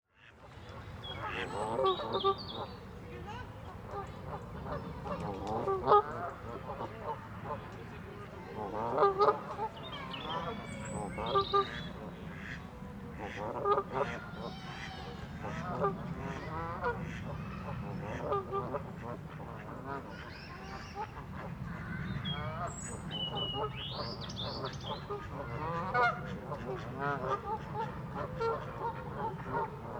geese 0:00.2 - 0:29.9
birds 0:00.5 - 0:29.9
voices 0:00.5 - 0:29.9

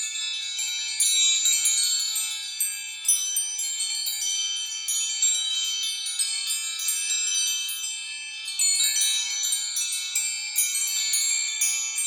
porch wind chimes 0:00.0 - 0:12.0

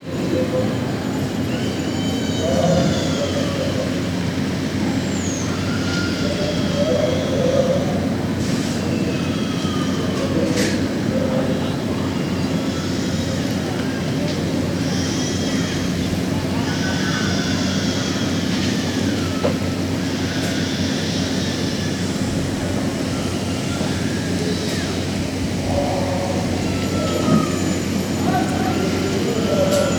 bells 0:25.0 - 0:29.9

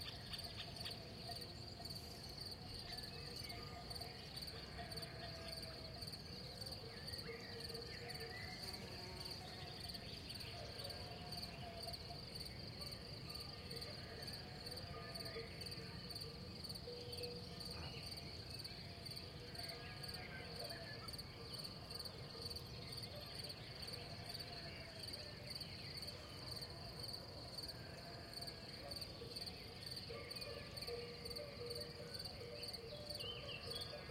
crickets 0:00.0 - 0:34.1
insects 0:00.0 - 0:34.1

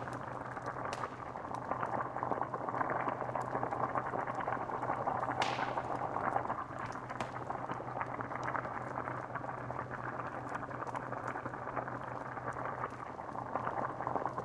bubbling cauldron 0:00.0 - 0:14.4
crackling 0:00.0 - 0:14.4

